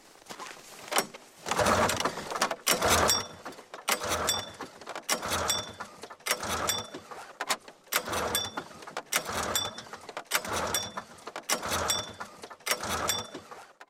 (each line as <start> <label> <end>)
0.8 snowmobile false starts pulling cord 13.8